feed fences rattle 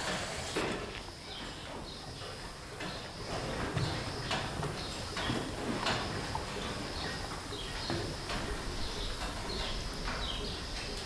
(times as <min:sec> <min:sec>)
0:00.0 0:01.6